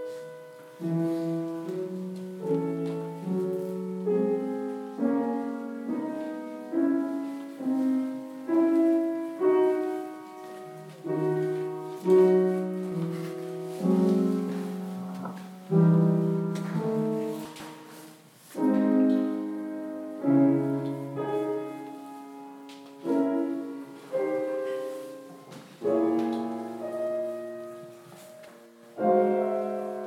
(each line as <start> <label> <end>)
0.0 Piano playing 30.0
0.0 people inside the church 30.0